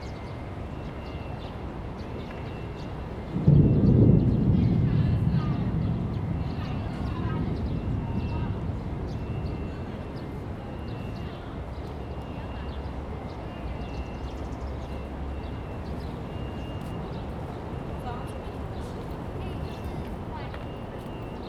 Thunder 3.3 - 10.5

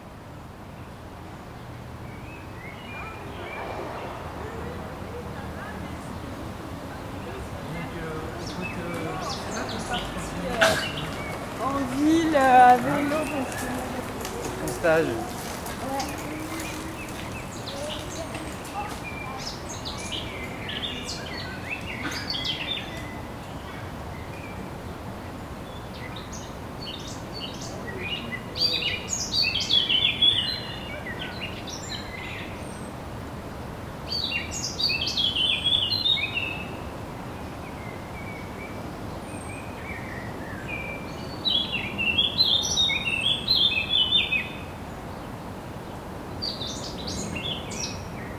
city 0.0 - 48.3
river 0.0 - 48.3
road 0.0 - 48.3
birds 0.8 - 33.0
walker 5.1 - 23.2
bicycle 11.1 - 19.2
birds 34.1 - 48.3

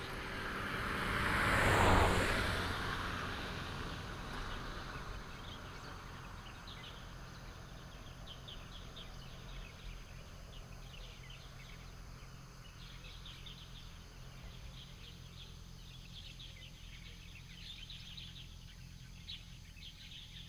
birds 0.0 - 20.4

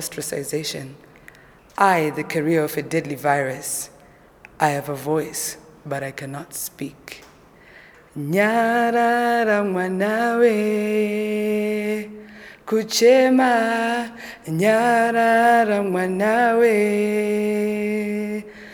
recites a poem 0.0 - 18.7

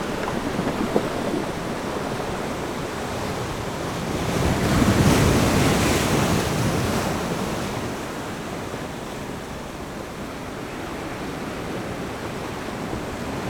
waves 0.0 - 13.4

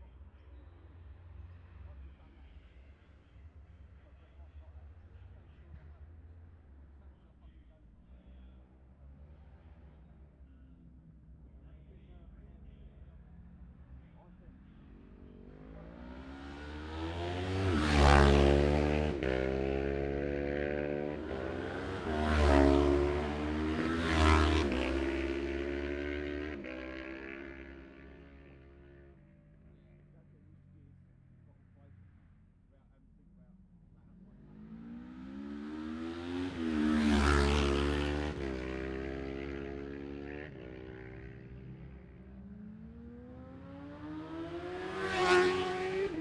road racing 0.0 - 46.2

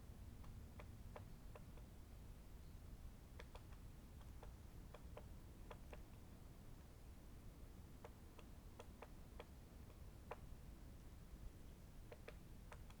great spotted woodpecker 0.4 - 13.0

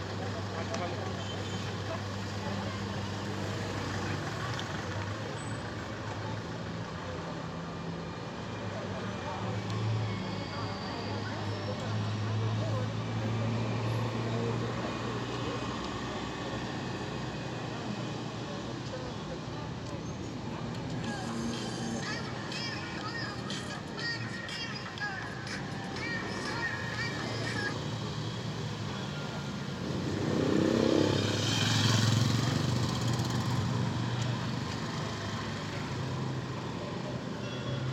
whistles from cars and motorcycles 10.0 - 12.0
heavy cars passing by 20.4 - 37.9
cars braking and accelerating 25.7 - 36.8

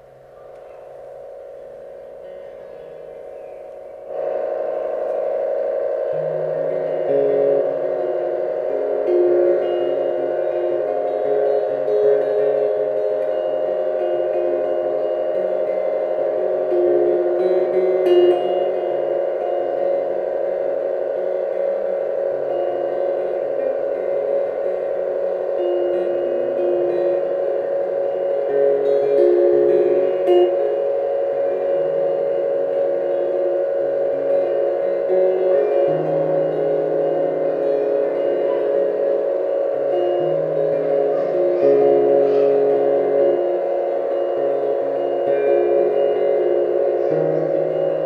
chitarra elettrica 0.0 - 48.0

